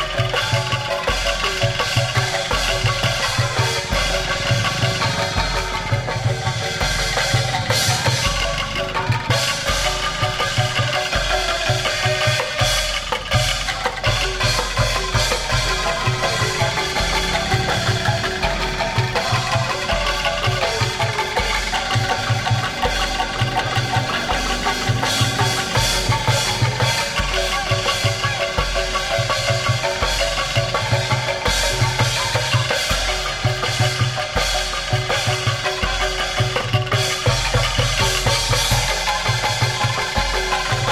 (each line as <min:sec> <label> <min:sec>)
0:00.0 gong 0:40.9
0:00.0 kendang 0:40.9
0:00.0 metallophone 0:40.9
0:00.0 xylophone 0:40.9